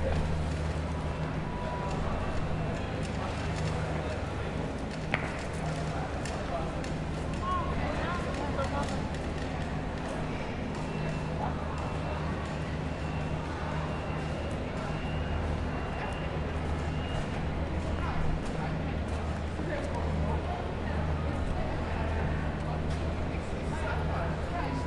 0.0s construction work going on in the background 24.8s
0.0s people 24.8s
0.0s train 24.8s

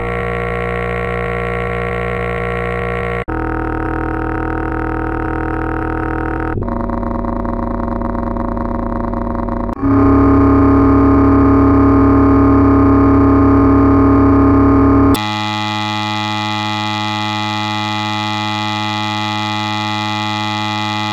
0.0s buzz 6.0s
0.0s hum 21.1s
9.8s buzz 14.1s
9.8s tones 21.1s
15.1s buzz 21.1s

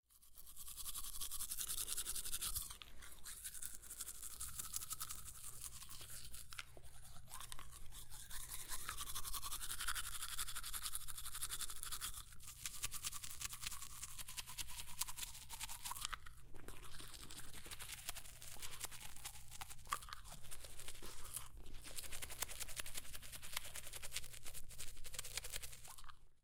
0.1s Brushing teeth 26.4s

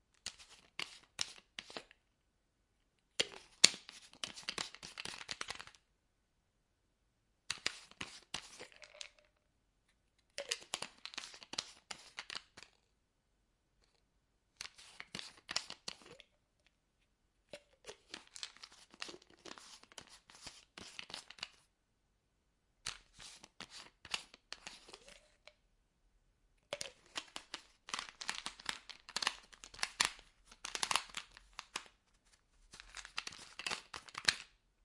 3.0s open close small box with caffeine pills 5.8s
7.5s open close small box with caffeine pills 12.9s
14.6s open close small box with caffeine pills 16.8s
17.6s open close small box with caffeine pills 21.7s
22.8s open close small box with caffeine pills 25.6s
26.6s open close small box with caffeine pills 34.6s

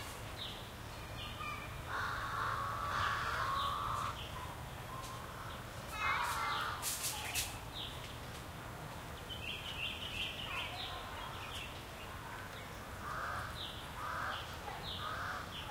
0.0s crackly twiggy stuff 15.7s
0.0s distant sparse people activity 15.7s
0.0s light traffic 15.7s
1.4s crows 4.2s
5.0s crows 6.8s
13.0s crows 15.7s

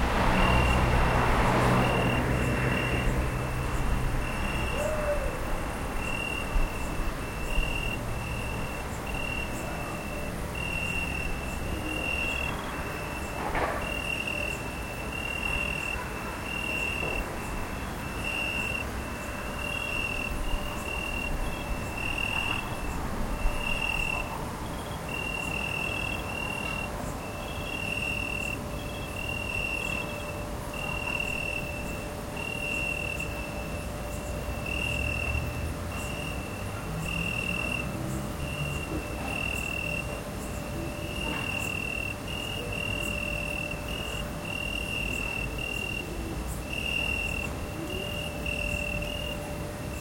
0.0s Crickets 50.0s

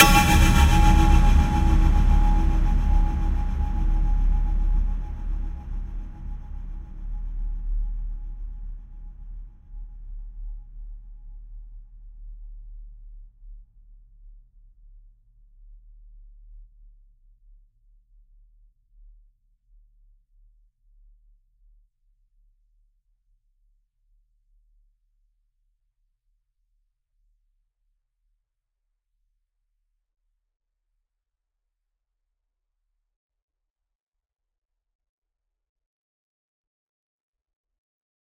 0.0s whoosh 6.4s
0.0s impact 6.6s

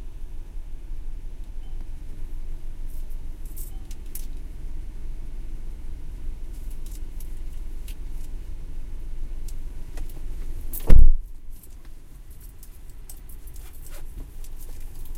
0.0s car 15.1s
0.0s using the drive through ATM 15.1s
1.6s beeping 2.0s

